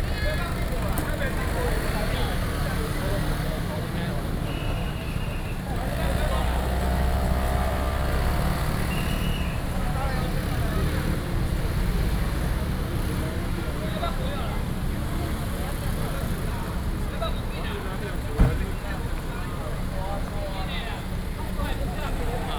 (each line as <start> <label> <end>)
0.0 Traffic Sound 22.5
0.0 Walking through the traditional fair parade 22.5